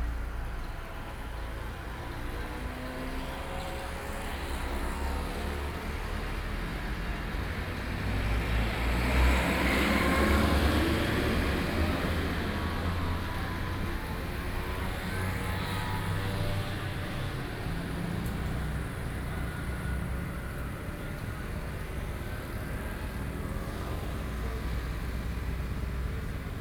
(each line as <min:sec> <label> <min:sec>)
0:00.0 traffic noise 0:26.6